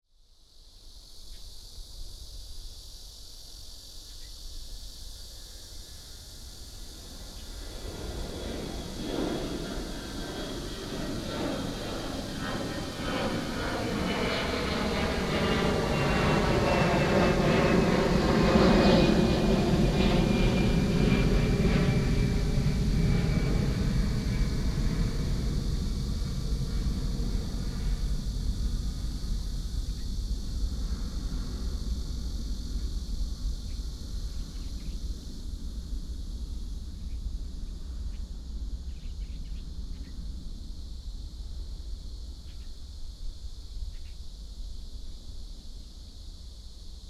Cicada 0.1 - 47.0
The plane flew through 7.0 - 29.8

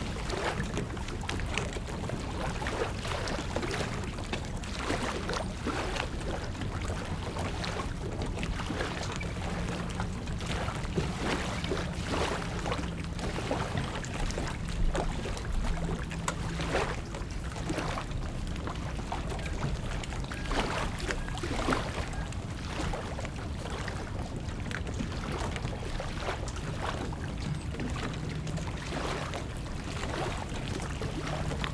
Hudson River 0.0 - 31.7

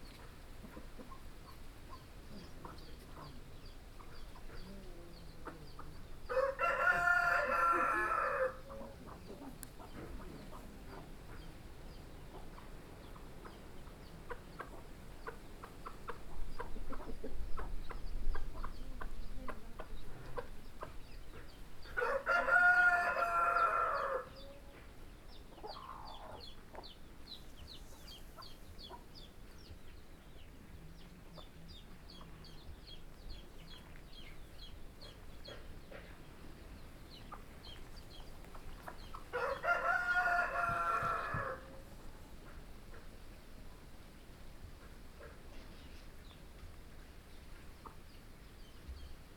heavy mid-day breeze in the large trees 0.0 - 49.3

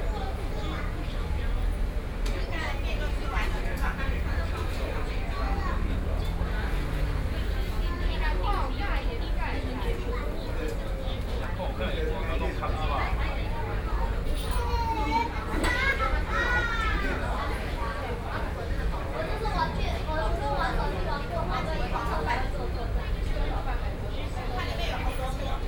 Traffic Sound 0.0 - 25.6

